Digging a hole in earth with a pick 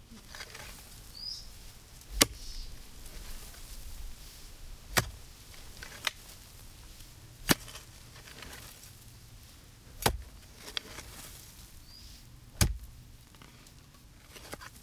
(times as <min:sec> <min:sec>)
0:00.0 0:01.4, 0:02.0 0:03.7, 0:04.8 0:09.0, 0:09.9 0:11.4, 0:12.2 0:14.8